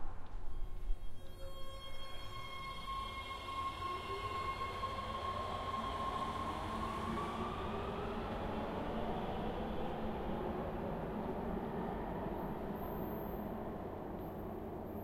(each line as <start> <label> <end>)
0.0 subway arriving and leaving 15.0